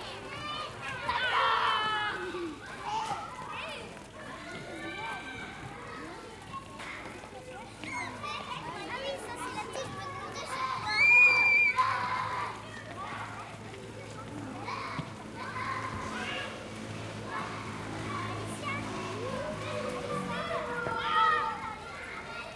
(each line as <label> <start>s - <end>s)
children playing 0.0s - 22.5s
shouting 0.5s - 2.3s
shouting 10.6s - 13.3s